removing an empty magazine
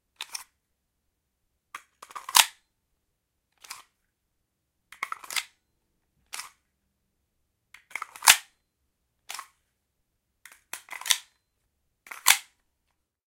12.1s 12.5s

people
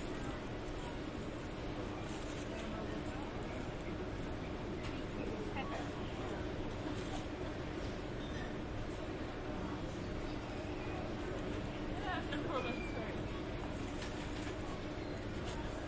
10.6s 15.8s

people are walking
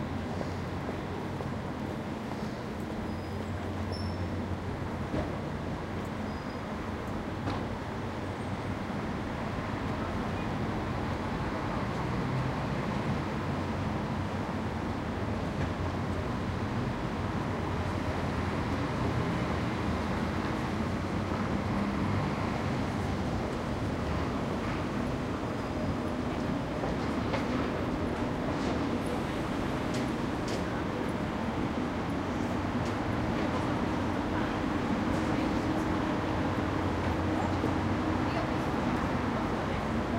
0.1s 6.2s, 18.8s 40.1s

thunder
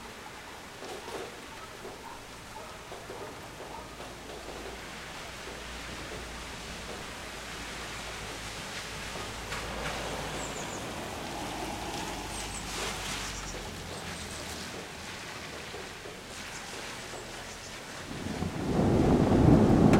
18.1s 19.9s

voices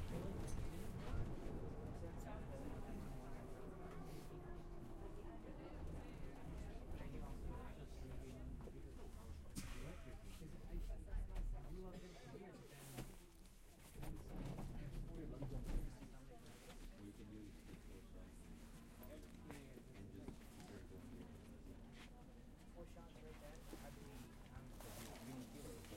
0.0s 9.3s

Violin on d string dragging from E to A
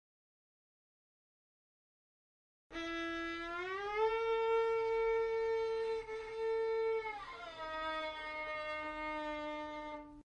2.7s 10.2s

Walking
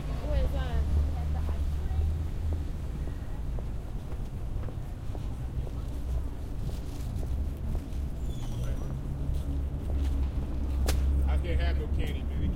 3.5s 11.2s

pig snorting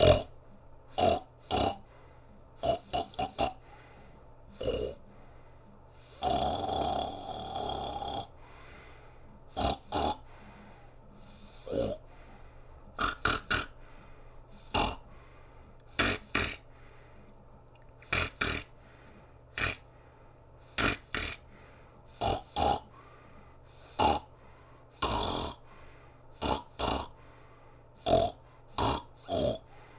0.0s 2.0s, 2.6s 3.9s, 4.6s 5.0s, 6.1s 8.3s, 9.5s 10.4s, 11.3s 12.1s, 13.0s 13.8s, 14.6s 15.2s, 15.9s 16.9s, 18.0s 18.9s, 19.5s 19.9s, 20.6s 21.5s, 22.1s 23.1s, 23.7s 24.3s, 25.0s 25.6s, 26.4s 27.2s, 28.0s 29.7s

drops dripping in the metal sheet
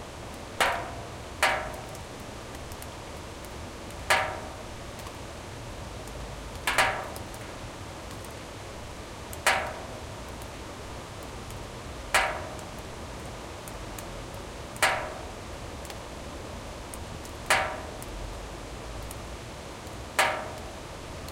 0.3s 5.2s, 6.0s 7.5s, 9.3s 10.6s, 11.2s 12.9s, 13.6s 16.0s, 16.9s 18.2s, 19.8s 21.3s

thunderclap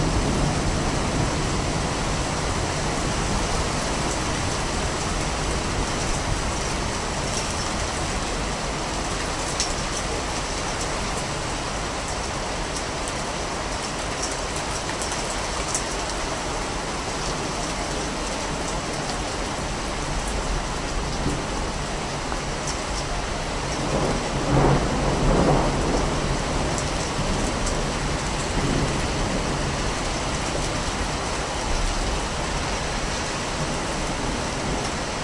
23.8s 27.5s

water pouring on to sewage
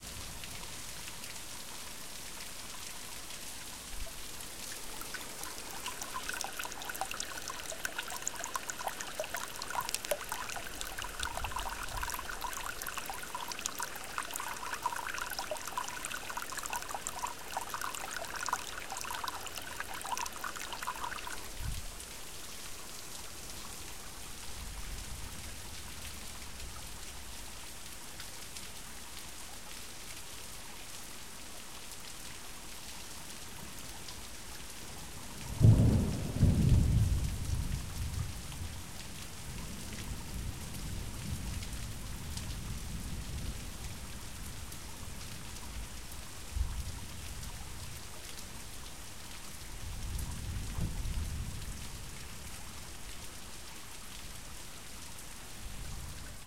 0.0s 27.5s

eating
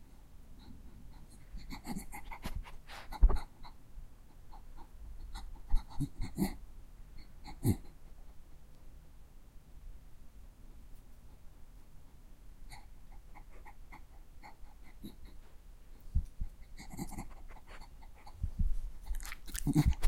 16.5s 18.4s, 19.0s 20.0s

